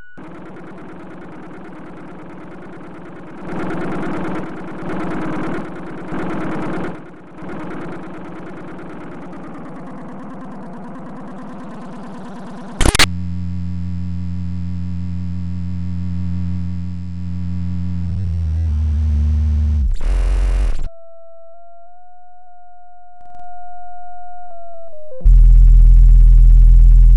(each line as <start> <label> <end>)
12.8 bleep 13.1
12.8 radio 13.1